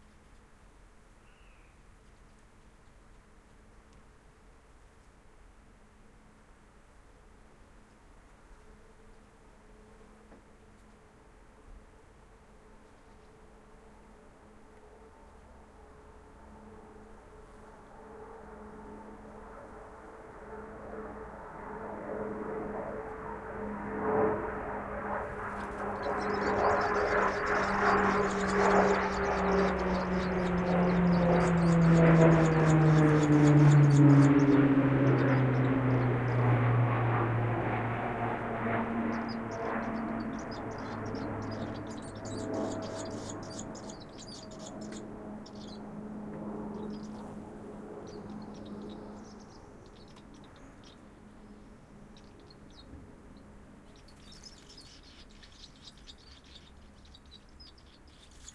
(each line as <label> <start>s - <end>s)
propeller driven plane passing by 5.7s - 58.5s
swallows being fed by their parents in the nest 23.6s - 36.7s
swallows being fed by their parents in the nest 38.8s - 58.5s